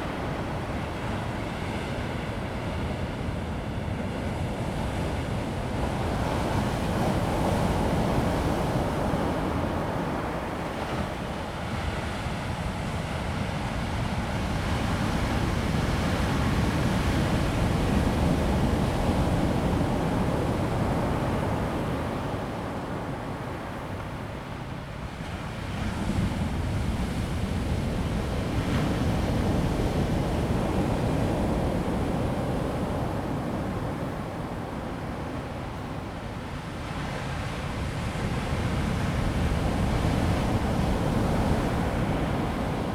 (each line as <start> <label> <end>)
0.0 waves 42.9